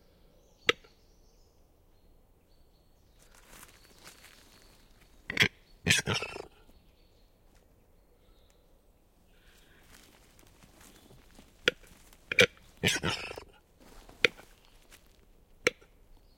birds faintly in the bg 0:00.0 - 0:16.3

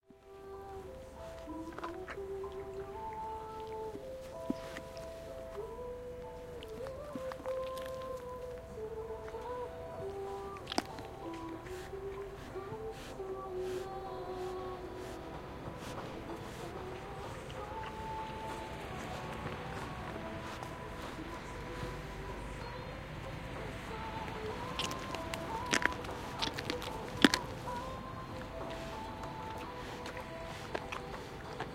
ponny 0:00.0 - 0:31.7

